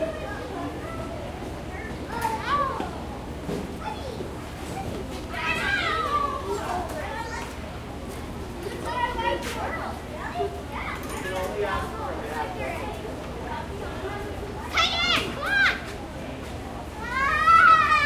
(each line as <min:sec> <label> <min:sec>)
0:00.0 Childrens' voices 0:16.1
0:16.8 Childrens' voices 0:18.0